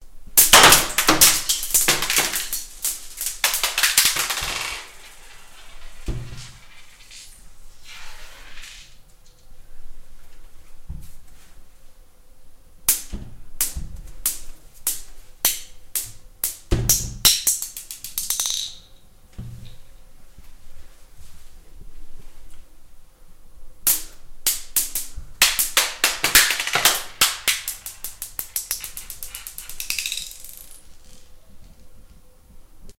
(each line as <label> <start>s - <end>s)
Bouncing of marbles on tile floor 0.4s - 7.3s
Bouncing of marbles on tile floor 16.0s - 18.9s
Bouncing of marbles on tile floor 24.6s - 31.3s